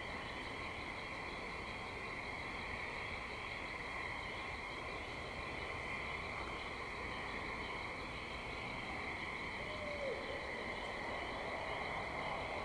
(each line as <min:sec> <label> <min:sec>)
0:00.0 pine barrens tree frog 0:12.6